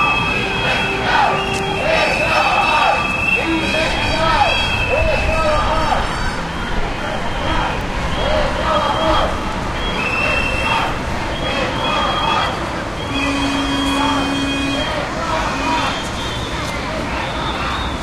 people shouting slogans 0.0 - 16.2
city noise 0.0 - 18.0
whistling 1.4 - 3.5
whistling 4.5 - 5.4
whistling 9.8 - 15.0

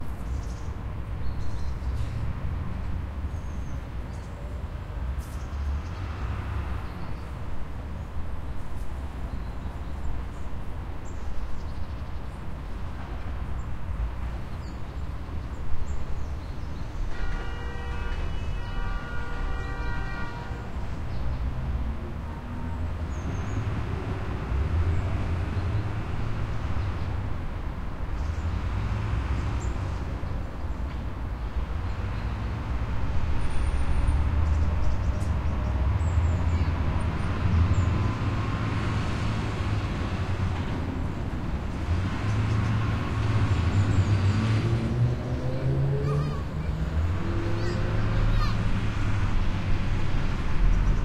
highway 0.0 - 51.0
tramways 0.0 - 51.0

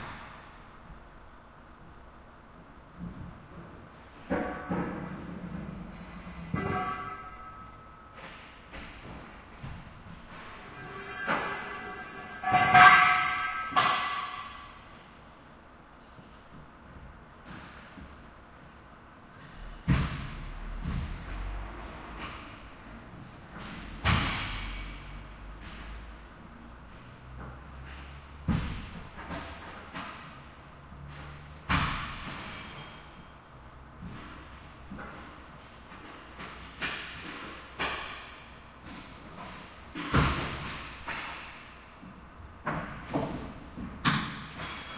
forklift 4.3 - 8.4
forklift 9.6 - 14.6

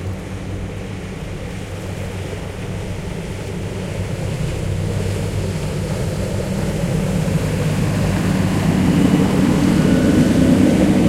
Boats passing in a narrow strait 0.0 - 11.0
waves 0.0 - 11.0

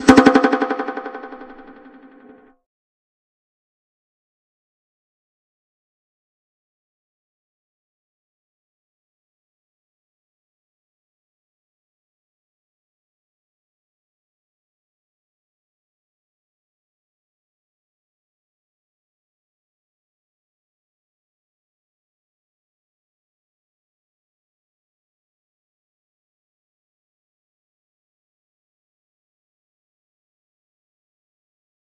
percussive sound 0.0 - 2.4

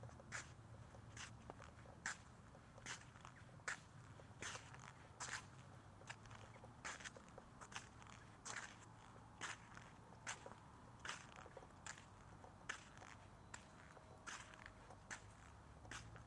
Walking in dirt 0.0 - 16.2

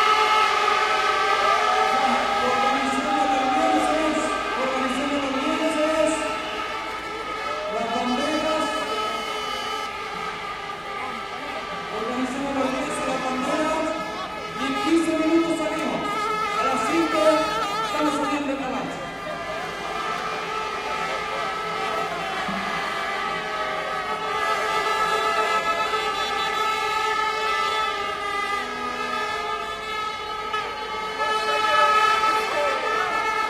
la medallita 0.0 - 28.2
crowd 0.0 - 33.4
vuvuzelas in crecendo 0.0 - 33.4

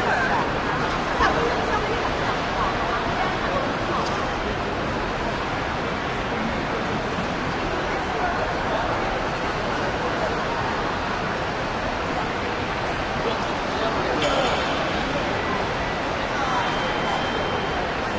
huge wash of voices and activity 0.0 - 18.1

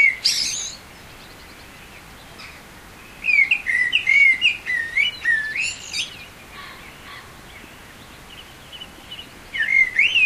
stream running faintly in the background 0.0 - 10.2
pheasant call 9.1 - 10.2

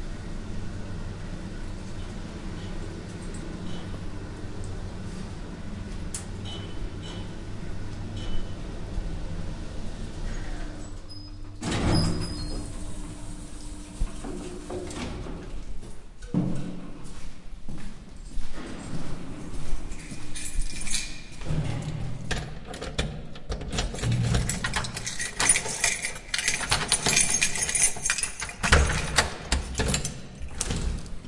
elevator trip 0.0 - 17.2
quite noisy door 6.1 - 15.6
elevator trip 18.2 - 31.2
quite noisy door 21.3 - 31.2

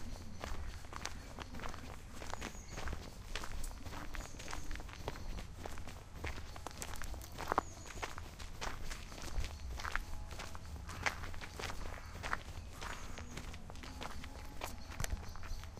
Walking Through Woodland 0.0 - 15.7
people 0.0 - 15.7

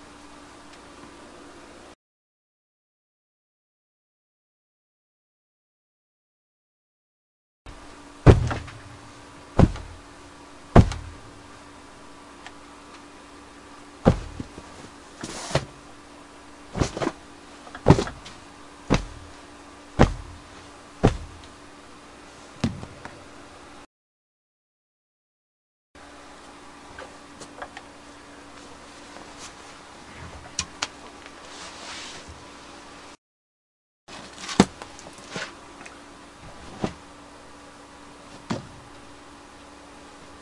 punching books under a pillow 8.2 - 11.5
punching my leg 8.3 - 8.9
punching my leg 9.6 - 10.1
punching my leg 10.8 - 11.2
punching books under a pillow 14.0 - 15.9
punching my leg 14.0 - 14.6
punching books under a pillow 16.7 - 19.4
punching my leg 16.8 - 17.2
punching my leg 17.8 - 18.3
punching my leg 18.9 - 19.4
punching books under a pillow 20.0 - 21.6
punching my leg 20.0 - 21.5
punching books under a pillow 34.2 - 35.5
punching books under a pillow 36.4 - 37.1
punching books under a pillow 38.3 - 38.8

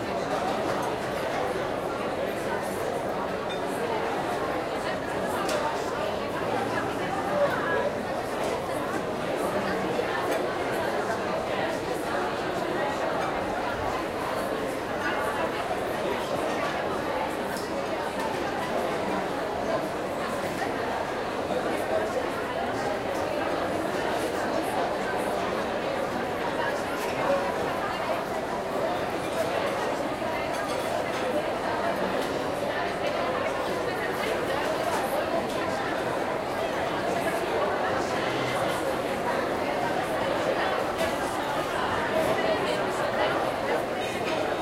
people talking 0.0 - 44.6

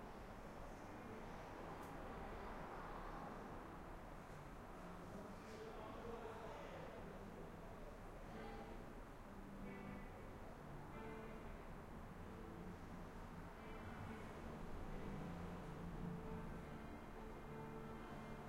typical noise of a city 0.0 - 18.4
people talking 4.8 - 8.8
main street 6.9 - 18.4
guitar sounds 9.4 - 18.4

